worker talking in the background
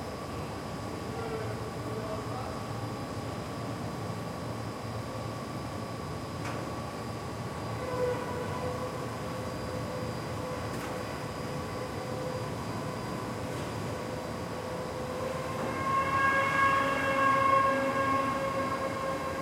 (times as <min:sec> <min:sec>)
0:00.9 0:03.0